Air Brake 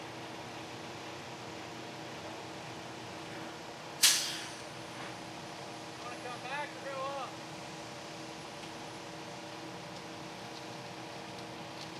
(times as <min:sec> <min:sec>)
0:04.0 0:04.7